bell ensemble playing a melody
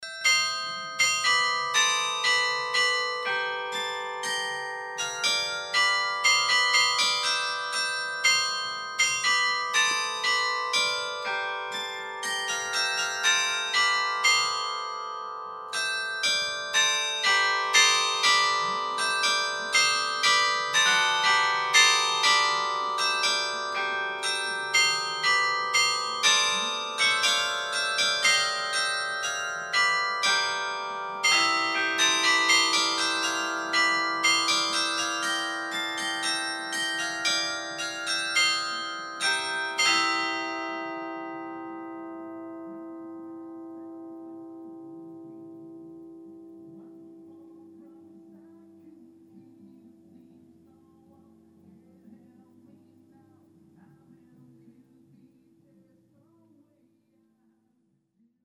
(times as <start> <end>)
0.0 42.1